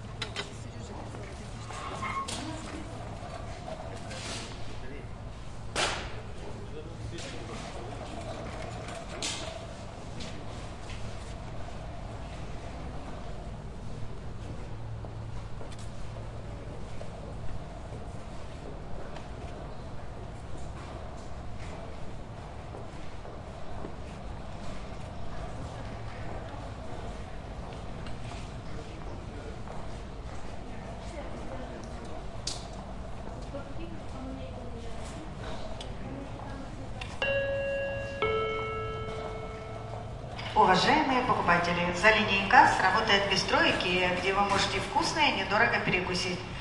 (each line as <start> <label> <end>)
0.0 Walking through the shop 46.6
40.4 Audio announcing in Russian language 46.5